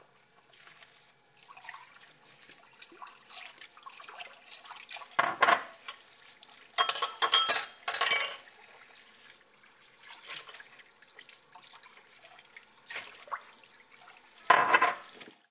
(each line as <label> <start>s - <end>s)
water 0.0s - 15.5s
dishes 5.2s - 6.0s
dishes 6.8s - 8.4s
dishes 14.5s - 15.2s